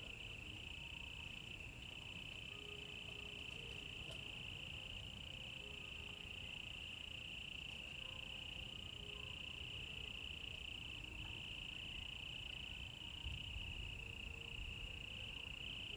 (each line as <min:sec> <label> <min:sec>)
0:00.0 Insects sounds 0:15.9